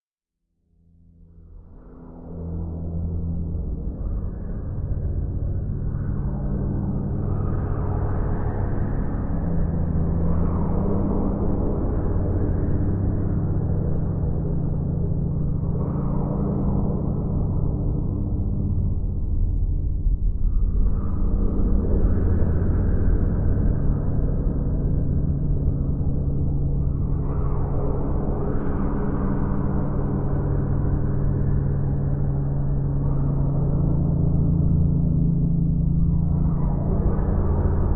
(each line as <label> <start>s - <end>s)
Low, warbling drone 0.7s - 37.9s